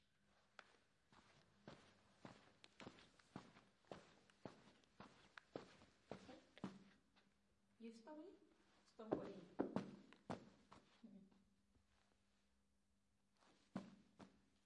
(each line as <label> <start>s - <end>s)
footsteps carpet dirt 0.4s - 7.3s
footsteps carpet dirt 13.4s - 14.6s